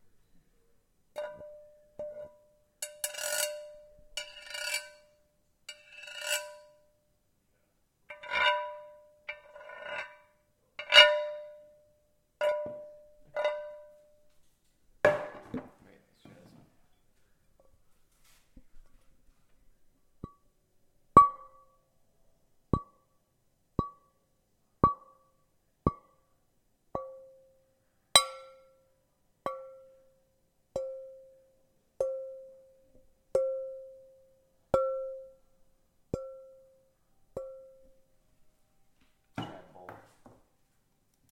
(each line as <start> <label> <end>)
1.2 glass bowl being tapped, scrapped, and hit 6.9
8.1 glass bowl being tapped, scrapped, and hit 11.8
12.4 glass bowl being tapped, scrapped, and hit 14.3
21.2 glass bowl being tapped, scrapped, and hit 21.8
23.8 glass bowl being tapped, scrapped, and hit 24.2
24.8 glass bowl being tapped, scrapped, and hit 25.3
27.0 glass bowl being tapped, scrapped, and hit 27.5
28.2 glass bowl being tapped, scrapped, and hit 28.9
29.5 glass bowl being tapped, scrapped, and hit 30.1
30.8 glass bowl being tapped, scrapped, and hit 31.4
34.8 glass bowl being tapped, scrapped, and hit 35.4
36.1 glass bowl being tapped, scrapped, and hit 38.0